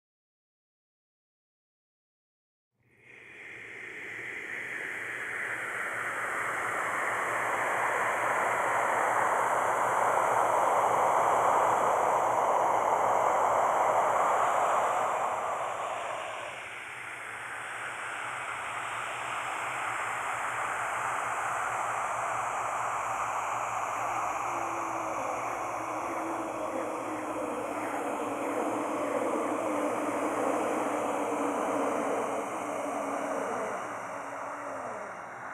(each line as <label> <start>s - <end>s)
whispers 3.0s - 35.5s